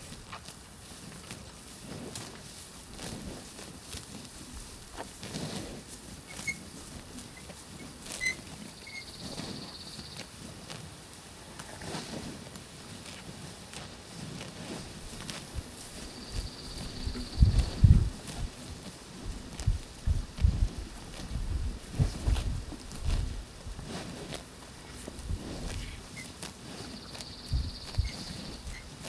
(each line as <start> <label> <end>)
0.0 Cows eating grass 29.0
6.3 squeaky metal fence 6.7
7.3 squeaky metal fence 9.4